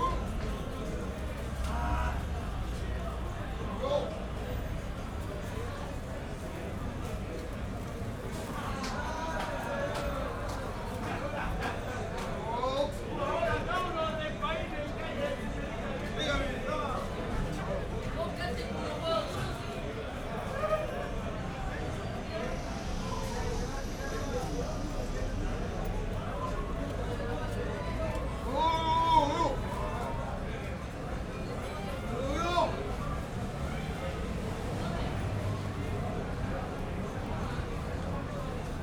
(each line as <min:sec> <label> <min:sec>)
0:00.0 people at the taxi stand 0:38.8
0:19.9 passers-by 0:38.8